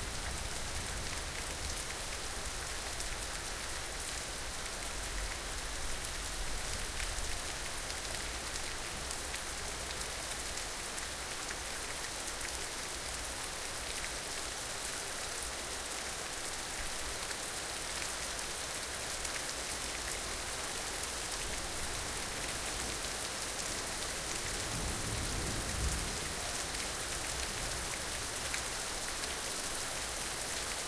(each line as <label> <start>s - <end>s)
Rain 0.0s - 30.8s